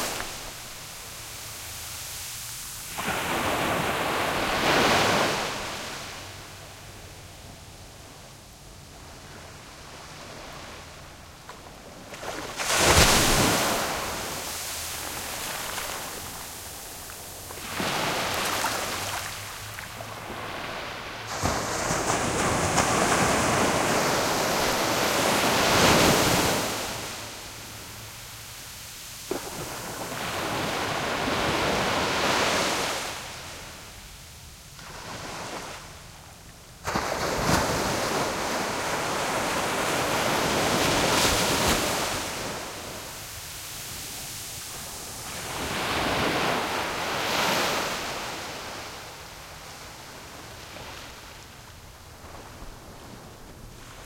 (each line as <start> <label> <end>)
0.0 ocean waves crashing on beach 36.2
36.8 ocean waves crashing on beach 54.0